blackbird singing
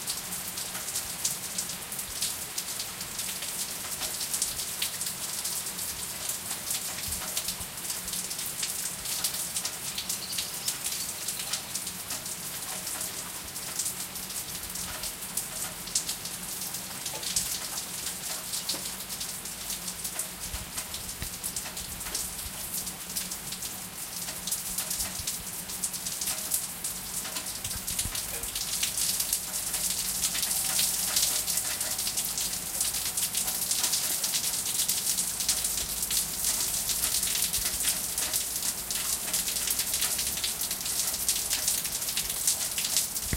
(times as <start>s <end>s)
10.1s 11.1s